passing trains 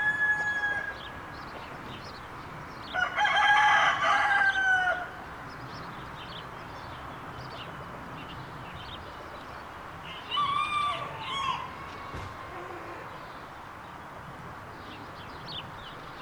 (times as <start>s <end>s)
10.9s 16.2s